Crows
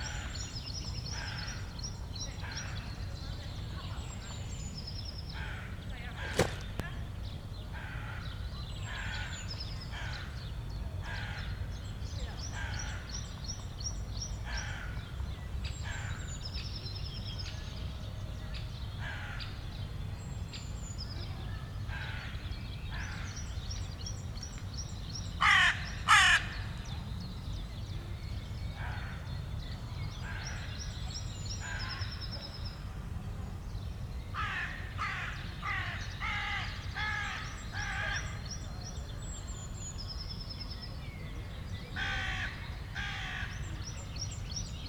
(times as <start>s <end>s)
14.5s 15.1s, 25.4s 26.6s, 34.4s 38.4s, 42.0s 43.6s